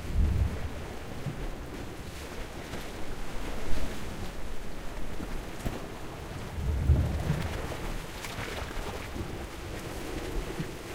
0.0s Waves 10.9s

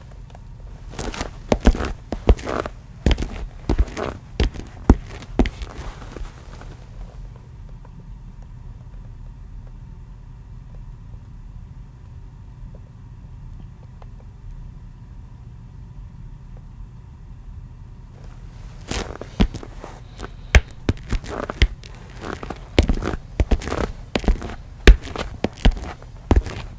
0.7s walking footsteps loafer shoes tile floor 7.9s
18.2s walking footsteps loafer shoes tile floor 26.7s

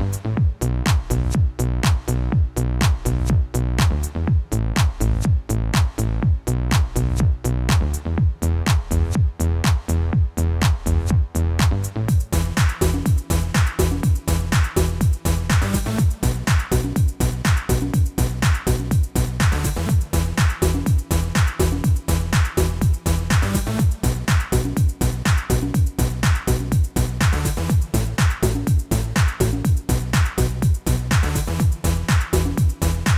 0.0s bass 33.1s
0.0s drums 33.1s
0.0s synthesizer 33.1s

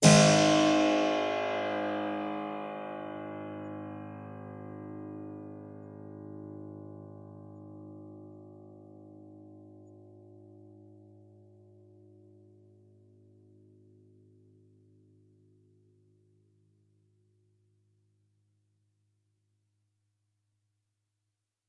0.0s Harpsichord 4.3s

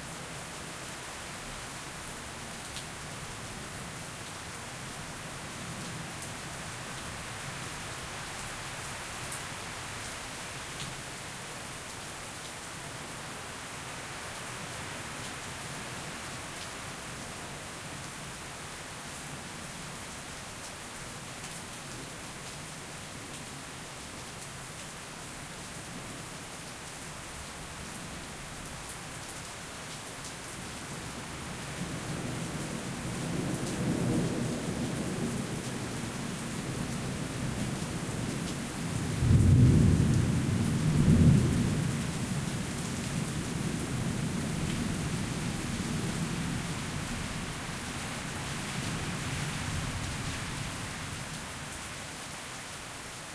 0.0s rain 53.3s
0.0s wind 53.3s
39.2s thunder 42.1s

